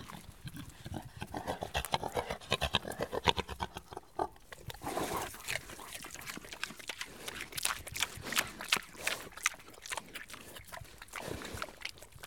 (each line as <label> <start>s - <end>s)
Pigs grunt, sniff, eat 0.0s - 12.2s